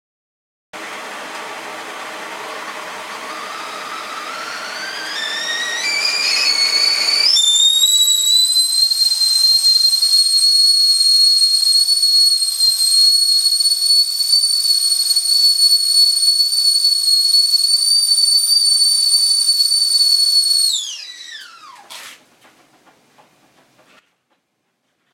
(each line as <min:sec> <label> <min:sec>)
0:00.8 kettle whistles as water boils 0:22.0